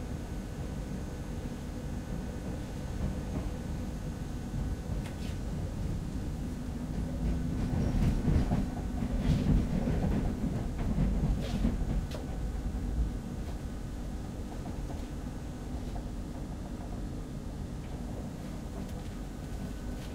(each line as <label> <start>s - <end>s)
Interior of a subway car 0.0s - 20.1s